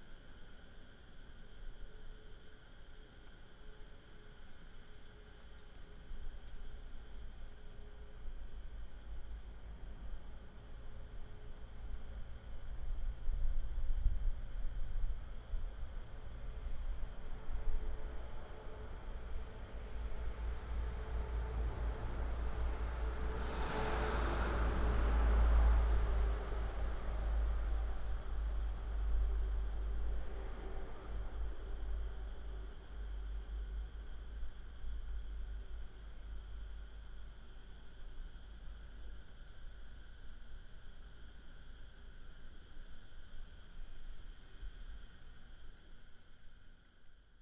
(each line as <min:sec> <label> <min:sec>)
0:00.0 Insects 0:47.4
0:18.7 traffic sound 0:33.8